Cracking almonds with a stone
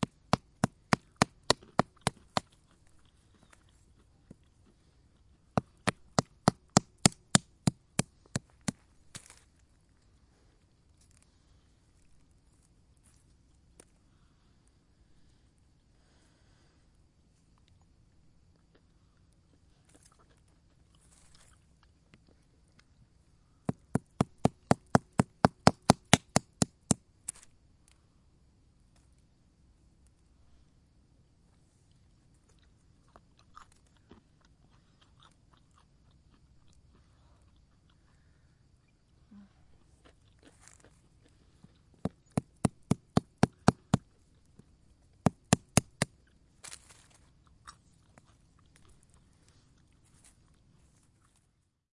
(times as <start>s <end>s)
0.0s 9.7s